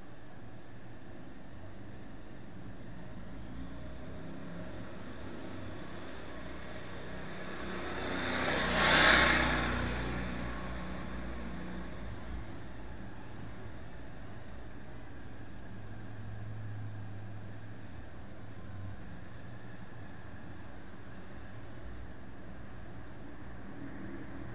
cars 0:03.1 - 0:24.5
airplanes 0:03.8 - 0:12.3

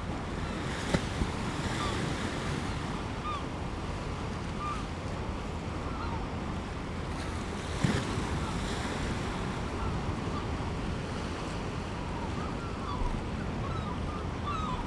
fishing boats leaving and entering the harbour 0:00.0 - 0:14.8
waves 0:00.0 - 0:14.8
herring gull calls 0:12.4 - 0:14.8

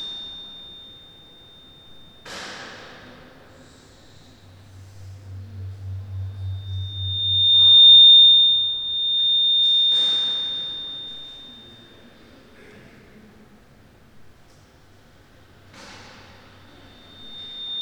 feedback 0:03.8 - 0:11.8
feedback 0:16.6 - 0:17.8

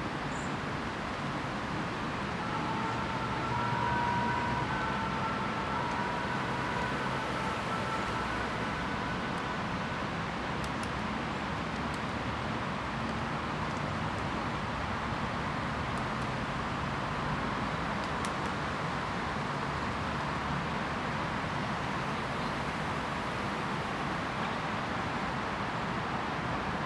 sirens 0:01.8 - 0:12.1

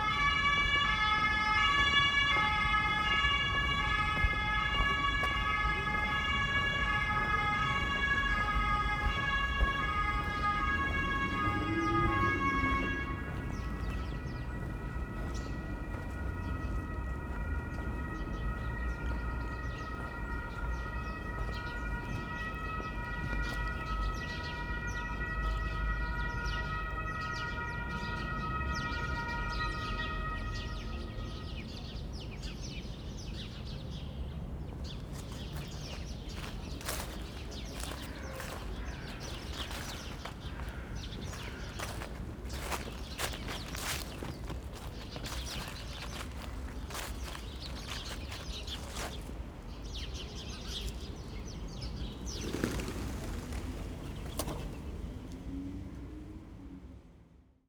Walking through autumn leaves 0:00.0 - 0:26.7
Crows 0:00.0 - 0:28.0
sirens approach and then stop abruptly 0:00.0 - 0:33.9
small flock of chattering sparrows 0:00.0 - 0:17.0
small flock of chattering sparrows 0:17.8 - 0:25.6
small flock of chattering sparrows 0:30.5 - 0:55.0
Walking through autumn leaves 0:34.5 - 0:55.3
sirens approach and then stop abruptly 0:34.7 - 0:57.6
Crows 0:35.1 - 0:49.3
pigeons in flight 0:51.3 - 0:55.2

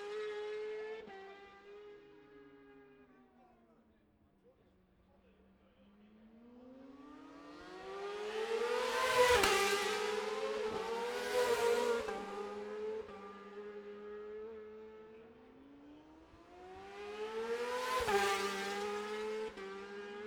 road racing 0:00.0 - 0:02.8
road racing 0:06.1 - 0:20.2

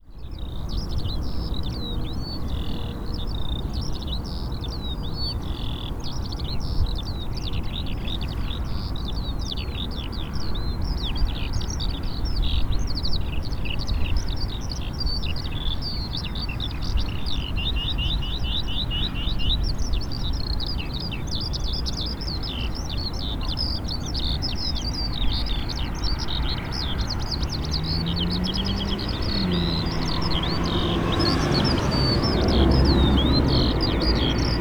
cars are passing 0:22.4 - 0:34.6
Lark singing 0:24.0 - 0:34.6

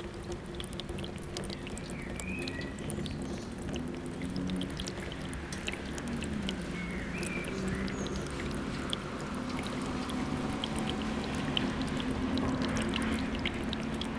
Downpour residue dripping from the roof into the gutters 0:00.0 - 0:14.1

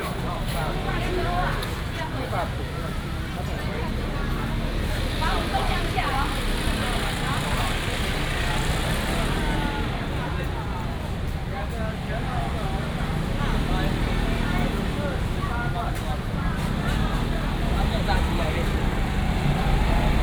Traffic sound 0:00.0 - 0:20.2
vendors peddling 0:11.9 - 0:20.2

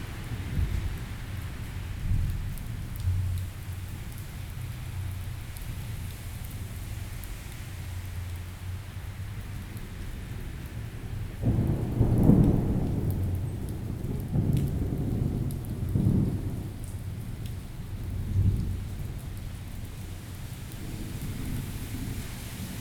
Thunderstorm 0:00.0 - 0:03.3
Thunderstorm 0:09.8 - 0:22.8

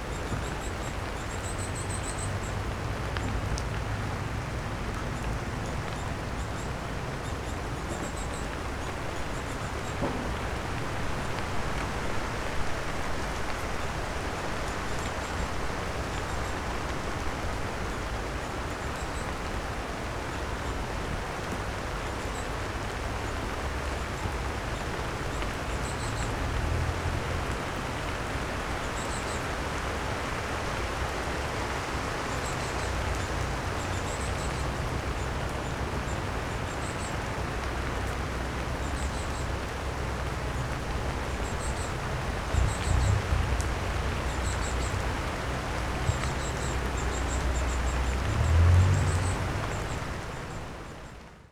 summer rain 0:00.0 - 0:51.5

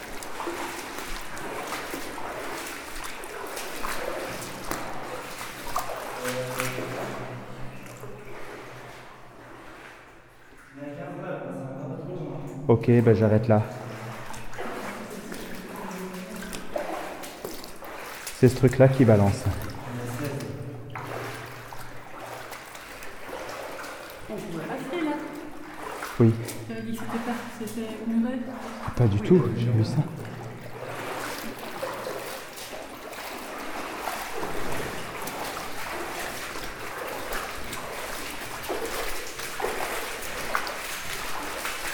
me walking like a galley slave 0:00.0 - 0:10.0
me walking like a galley slave 0:30.1 - 0:41.9

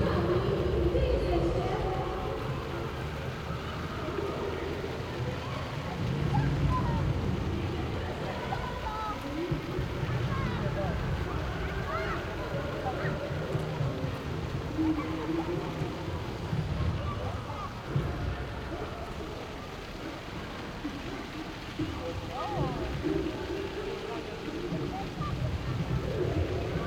bouncy castle 0:00.0 - 0:26.8
echoes 0:00.0 - 0:26.8

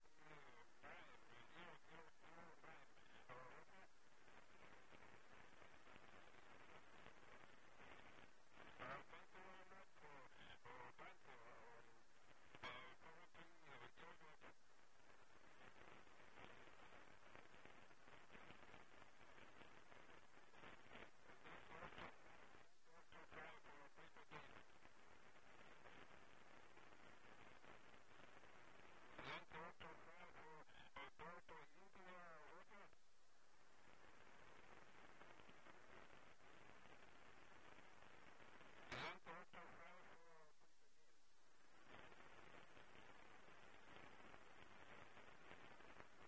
shortwave radio 0:00.0 - 0:46.2

